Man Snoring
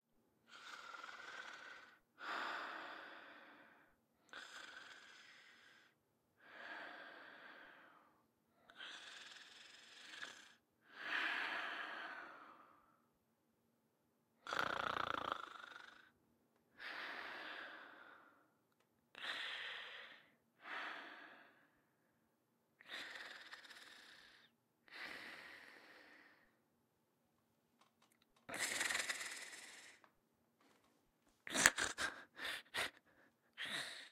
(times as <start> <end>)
0.5 2.0, 4.3 6.0, 8.8 10.6, 14.4 16.1